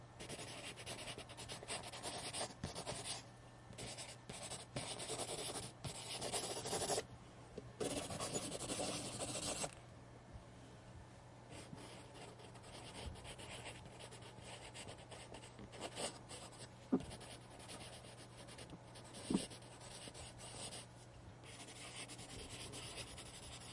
Writing energetically with a B(#1) pencil on paper 0:00.2 - 0:03.2
Writing energetically with a B(#1) pencil on paper 0:03.8 - 0:07.0
Writing energetically with a B(#1) pencil on paper 0:07.8 - 0:09.7
Writing energetically with a B(#1) pencil on paper 0:11.5 - 0:23.7

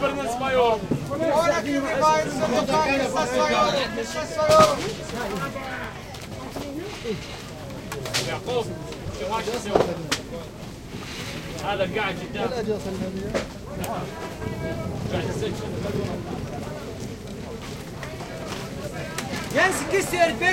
german and arabic speaking people 0:00.0 - 0:10.2
german and arabic speaking people 0:19.0 - 0:20.5

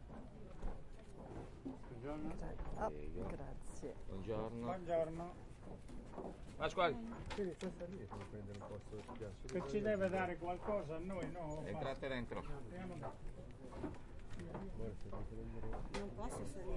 Small talk in Italian 0:00.3 - 0:16.7

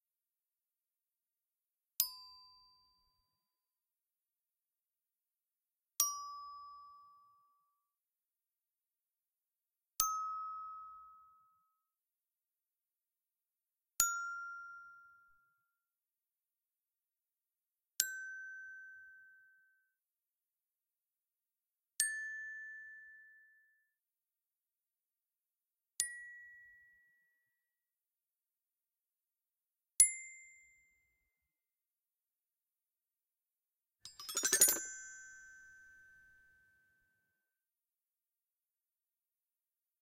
metallic toy xylophone 0:34.1 - 0:36.4

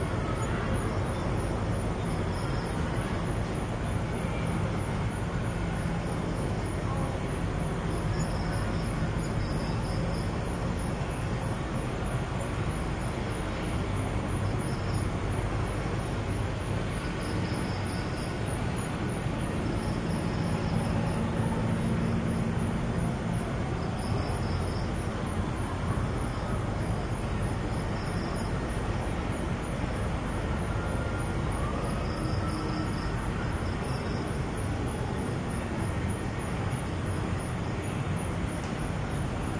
light crickets 0:00.0 - 0:39.5
traffic 0:00.0 - 0:39.5

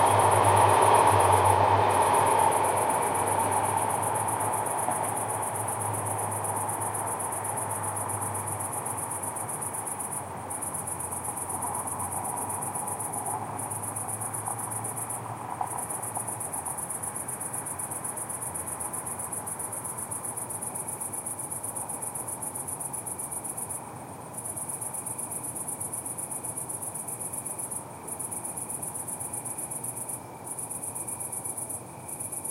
cars 0:00.0 - 0:17.8
trams in distance 0:00.0 - 0:20.0
2 trains in distance passing by 0:00.0 - 0:21.3
Cricket in tree 0:00.0 - 0:32.5

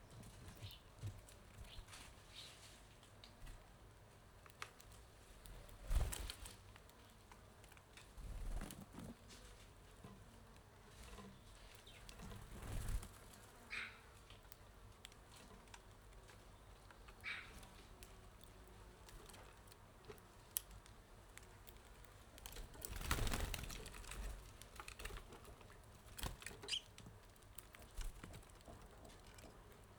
bird 0:00.0 - 0:02.7
bird 0:11.1 - 0:14.4
bird 0:16.3 - 0:17.8
flaps 0:22.8 - 0:24.0
bird 0:26.3 - 0:27.0

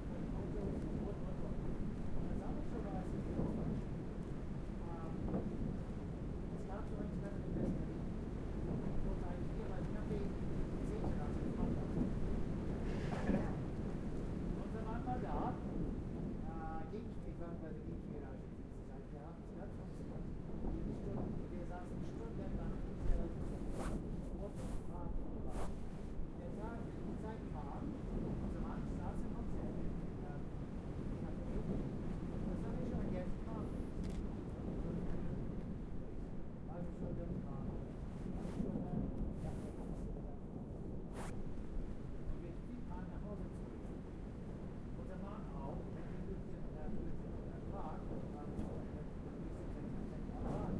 wind 0:00.0 - 0:50.7

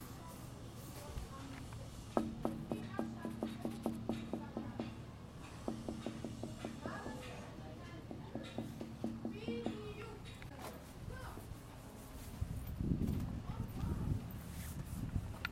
knocking on a wooden surface 0:02.2 - 0:05.0
knocking on a wooden surface 0:05.6 - 0:10.0

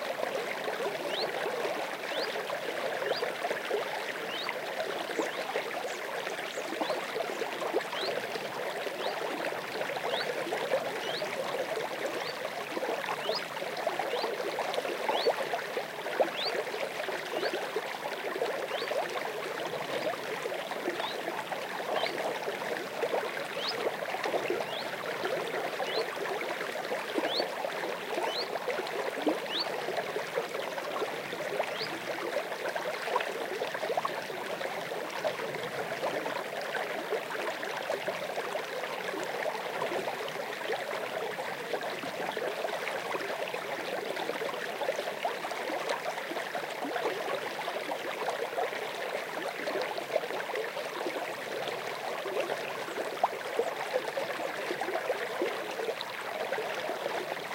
water running in a channel 0:00.0 - 0:57.5

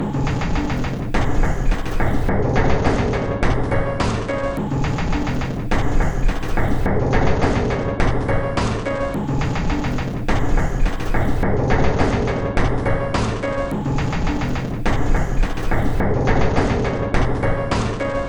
Drum Loop 0:00.0 - 0:03.6
Drum Loop 0:04.6 - 0:08.3
Drum Loop 0:09.2 - 0:12.2
Drum Loop 0:13.7 - 0:16.9

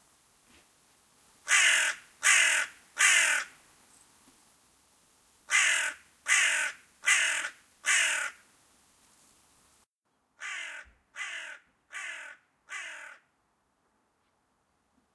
crowing 0:01.5 - 0:03.5
crowing 0:05.5 - 0:08.4
crowing 0:10.4 - 0:13.3

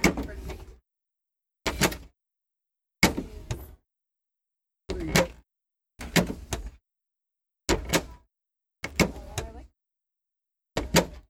plastic dollhouse door opening and closing 0:01.7 - 0:02.1
plastic dollhouse door opening and closing 0:03.0 - 0:03.8
plastic dollhouse door opening and closing 0:05.0 - 0:05.4
plastic dollhouse door opening and closing 0:06.0 - 0:06.8
plastic dollhouse door opening and closing 0:07.7 - 0:08.2
plastic dollhouse door opening and closing 0:08.8 - 0:09.6
plastic dollhouse door opening and closing 0:10.8 - 0:11.2

